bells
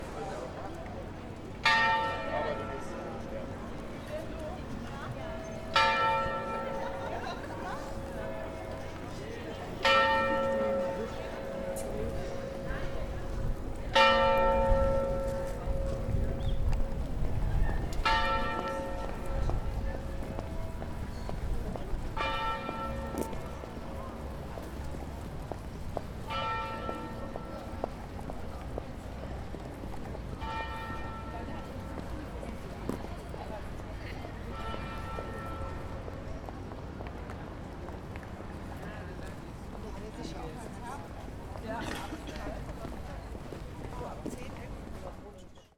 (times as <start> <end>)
1.6 17.0, 18.0 21.4, 22.2 23.7, 26.3 27.8, 30.4 31.7